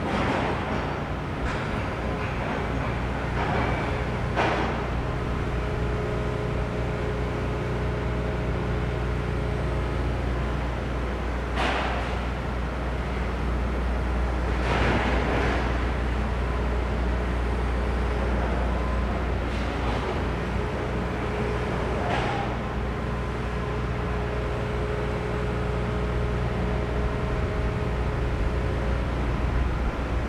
Construction Sound 0:00.0 - 0:08.0

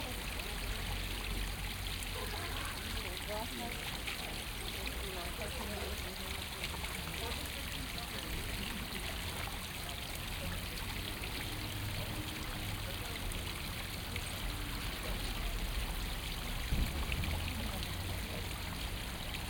indian fountain 0:00.0 - 0:19.4

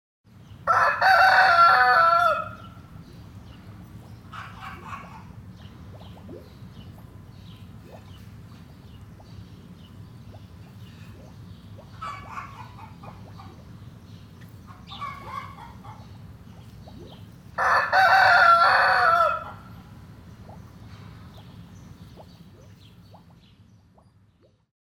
rooster calling 0:00.7 - 0:02.8
small fountain 0:01.1 - 0:24.7
rooster calling 0:17.6 - 0:19.8

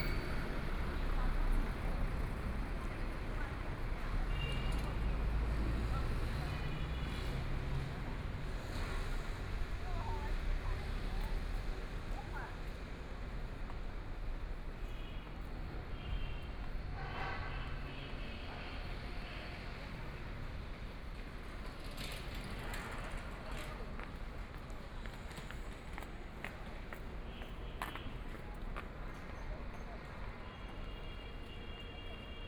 Walking on the street 0:00.0 - 0:32.4

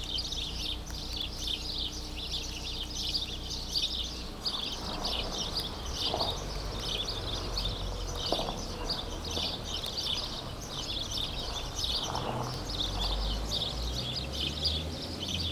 sparrows 0:00.0 - 0:15.5
rain 0:04.3 - 0:15.5

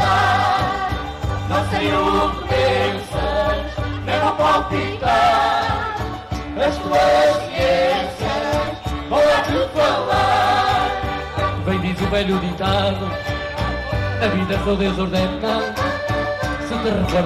Folk band 0:00.0 - 0:17.2

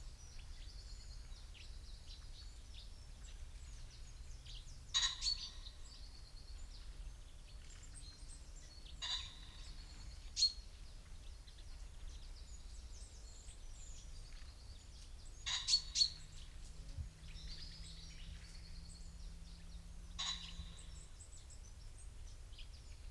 blackbird 0:00.0 - 0:23.1
pheasant calls 0:00.3 - 0:23.1
long-tailed tit 0:07.5 - 0:23.1
goldfinch 0:13.2 - 0:21.5
traffic 0:14.8 - 0:23.1

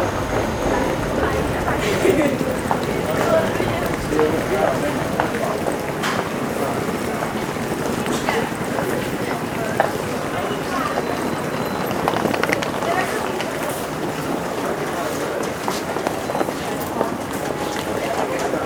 Jumping off a train in arrival 0:00.0 - 0:08.8
crowd 0:00.0 - 0:18.6

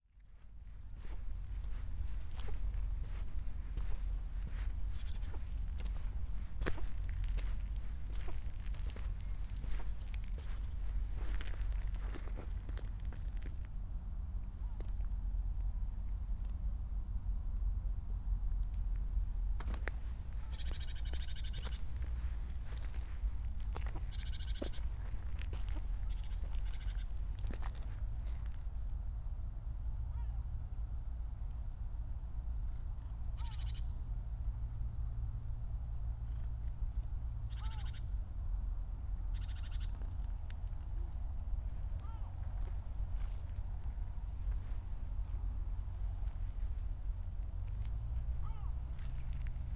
muddy walk 0:00.1 - 0:13.8
birds sing and flutter 0:00.7 - 0:13.8
birds sing and flutter 0:14.6 - 0:16.4
muddy walk 0:18.6 - 0:28.9
birds sing and flutter 0:18.6 - 0:29.5
birds sing and flutter 0:32.9 - 0:34.0
river gull 0:33.4 - 0:33.8
birds sing and flutter 0:35.3 - 0:38.2
river gull 0:37.5 - 0:38.0
birds sing and flutter 0:39.3 - 0:40.8
muddy walk 0:39.9 - 0:49.7
hydro power plant from afar 0:40.2 - 0:47.5
hydro power plant from afar 0:48.1 - 0:49.7

